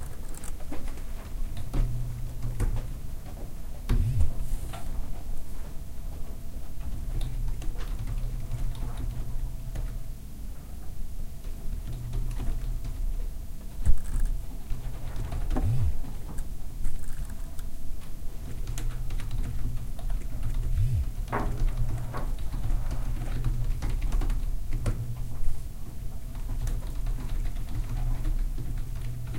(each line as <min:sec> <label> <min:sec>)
0:00.0 typing 0:02.9
0:06.8 typing 0:10.0
0:11.4 typing 0:13.2
0:13.8 typing 0:17.7
0:15.4 vibrations 0:16.2
0:18.4 typing 0:25.5
0:20.4 vibrations 0:22.2
0:26.2 typing 0:29.3